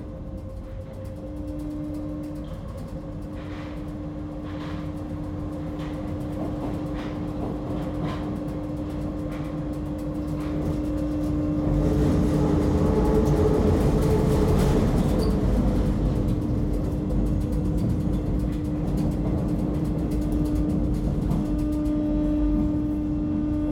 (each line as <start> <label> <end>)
0.0 Empty subway 23.7